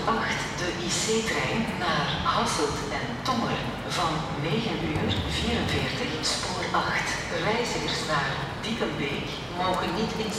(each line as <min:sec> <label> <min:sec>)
0:00.0 conversations on the platform 0:10.3
0:04.2 Synthetic voices for trains announcement 0:07.4